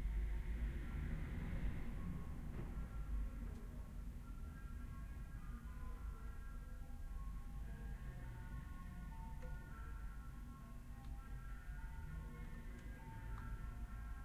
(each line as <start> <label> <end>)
0.0 passing ice-cream truck 14.2